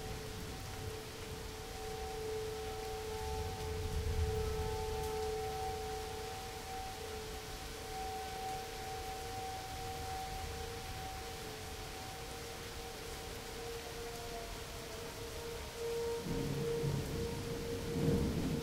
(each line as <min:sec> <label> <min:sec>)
0:00.0 rain 0:18.6
0:00.0 tornado siren 0:18.6
0:16.2 Thunder 0:18.6